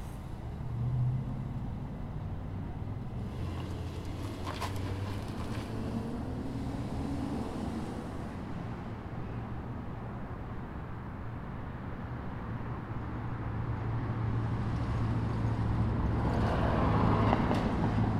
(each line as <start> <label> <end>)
0.0 Cars 18.1